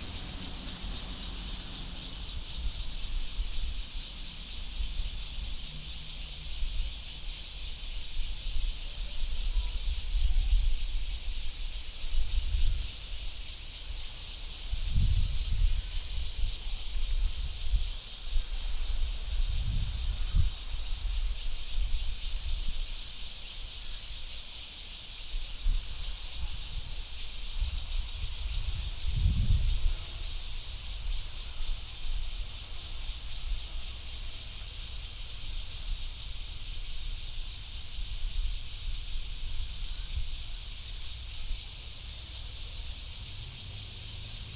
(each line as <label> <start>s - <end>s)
Traffic Sound 0.0s - 3.1s
Cicadas sound 0.0s - 44.5s
Traffic Sound 41.2s - 44.5s